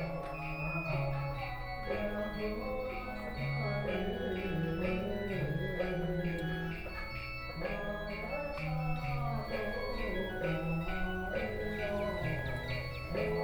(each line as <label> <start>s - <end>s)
Funeral sounds 0.0s - 13.4s